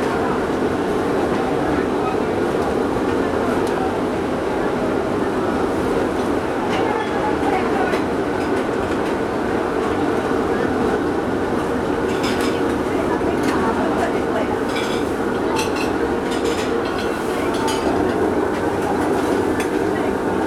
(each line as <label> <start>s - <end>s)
Restaurant cooking sound 9.9s - 20.4s